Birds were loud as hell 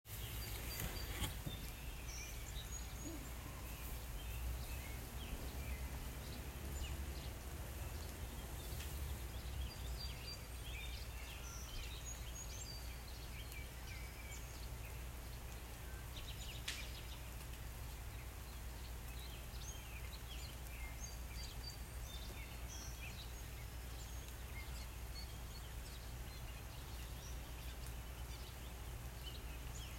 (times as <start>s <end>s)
0.1s 17.4s